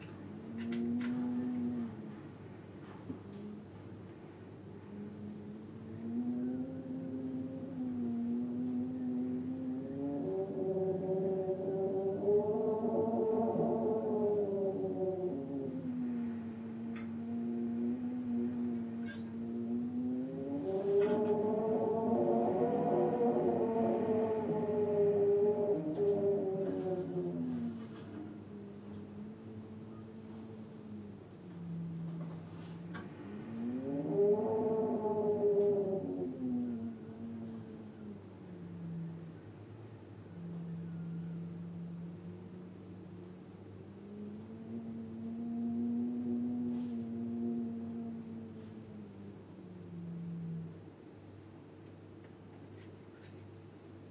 0.0s Wind 54.1s

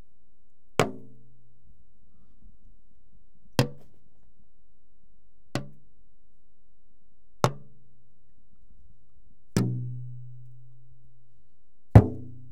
0.8s hits on a plastic bucket 1.1s
12.0s hits on a plastic bucket 12.3s
12.0s hits on a 100 and 20 lb. propane tanks 12.5s

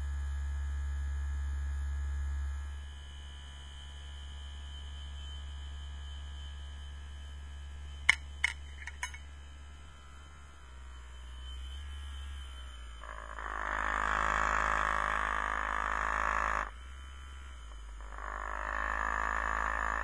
0.0s usb neck massager that was vibrating on the lid 20.0s

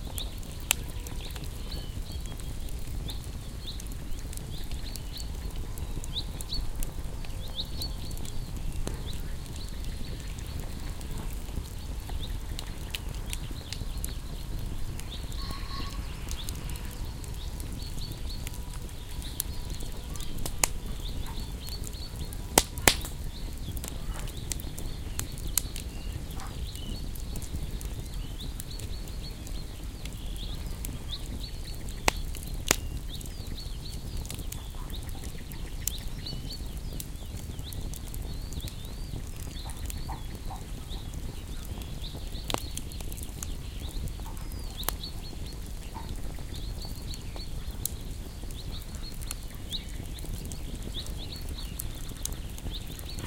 0.0s birdsong 53.2s
0.0s bonfire 53.2s

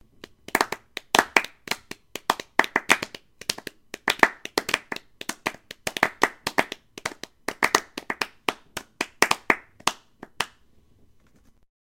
0.2s Unsure clapping sound 10.6s

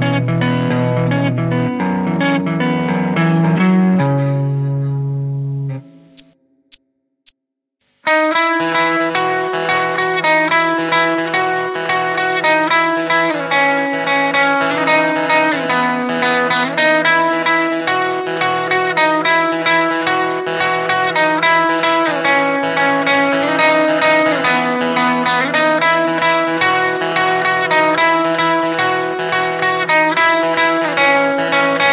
5.8s muted rhythm part 8.1s

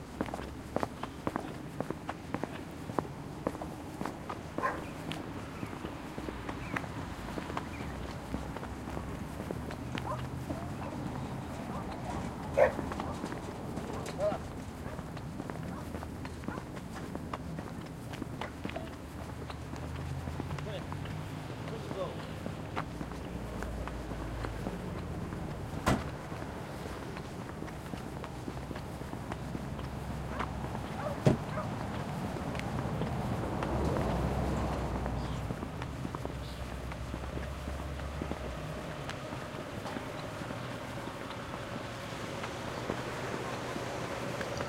0.0s diesel 44.6s
0.0s foot steps 44.6s
0.0s people are loading/unloading dogs 44.6s

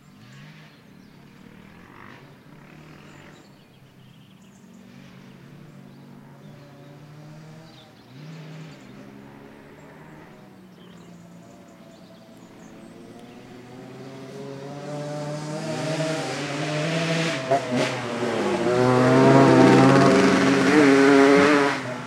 0.0s birds 16.8s
0.0s bikes on a dirt road 22.0s

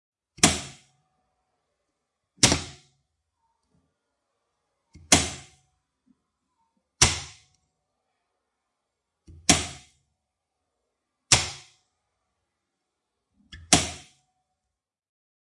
0.4s Electrical Cutout Box Switch On and Off 0.9s
2.4s Electrical Cutout Box Switch On and Off 2.9s
5.0s Electrical Cutout Box Switch On and Off 5.6s
7.0s Electrical Cutout Box Switch On and Off 7.6s
9.3s Electrical Cutout Box Switch On and Off 10.0s
11.3s Electrical Cutout Box Switch On and Off 11.8s
13.5s Electrical Cutout Box Switch On and Off 14.2s

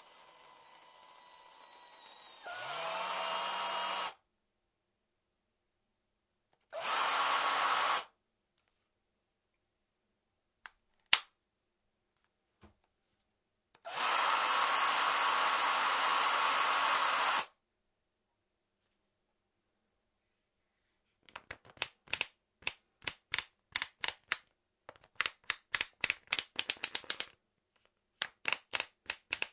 28.2s click 29.5s

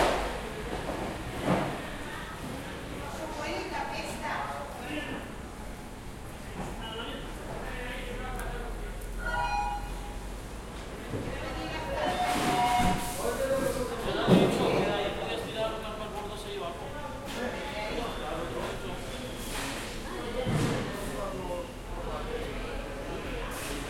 0.0s fishermen talking and working 23.8s
9.2s electronic bids are being tested 10.2s

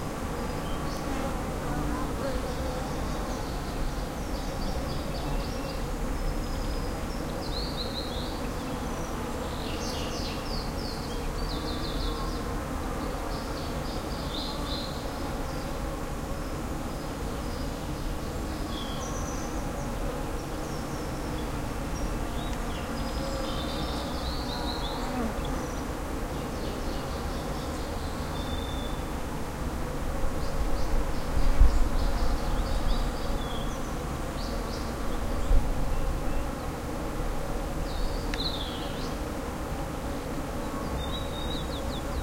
0.0s buzzing bees 42.2s
37.8s birds 39.3s

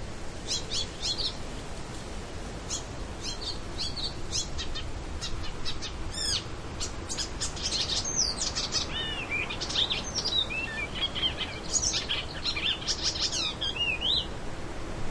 0.0s wind 15.1s
0.4s bird was singing 1.4s
2.7s bird was singing 14.3s

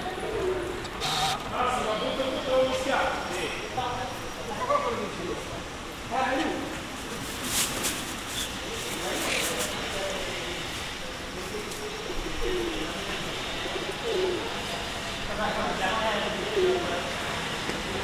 0.0s people talking 0.9s
1.0s electric saw 1.4s
1.5s people talking 7.2s
8.4s people talking 18.0s

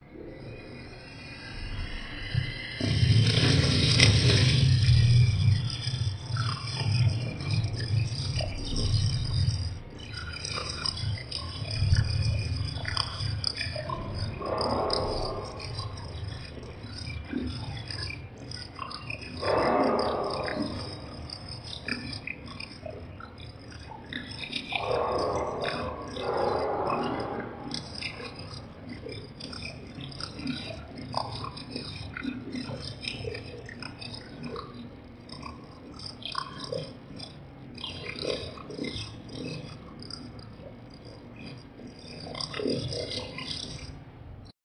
0.4s distorted and digital sounds 35.0s

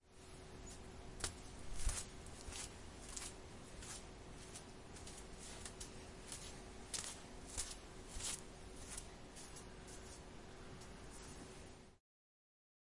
1.2s barefoot steps on tile 10.3s

